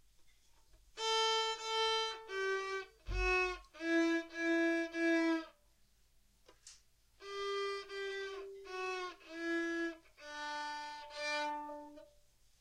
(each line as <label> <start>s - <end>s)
practising his violin 1.0s - 5.5s
practising his violin 7.2s - 12.1s